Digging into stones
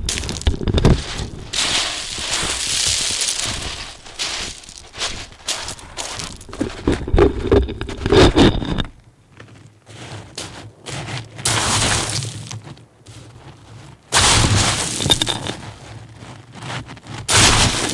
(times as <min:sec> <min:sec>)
0:00.0 0:09.0, 0:11.4 0:12.6, 0:14.1 0:15.9, 0:17.1 0:17.9